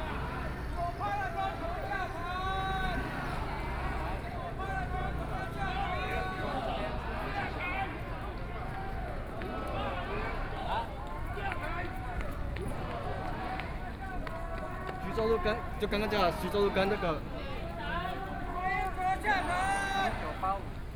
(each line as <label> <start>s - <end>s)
Protest 0.0s - 20.9s